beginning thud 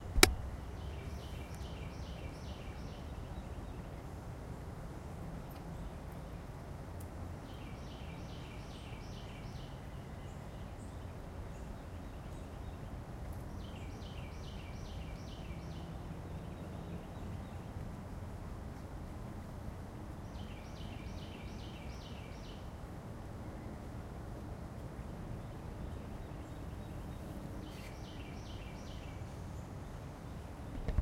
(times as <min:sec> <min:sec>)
0:00.0 0:00.5